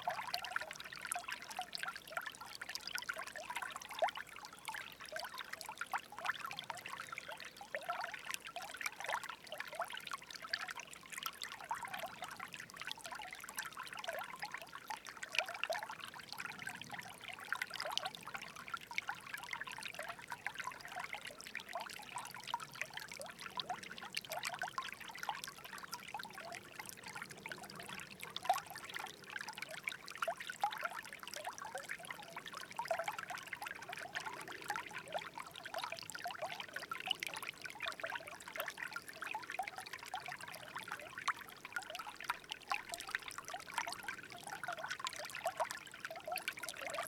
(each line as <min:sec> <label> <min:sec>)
0:00.0 happy waters 0:47.0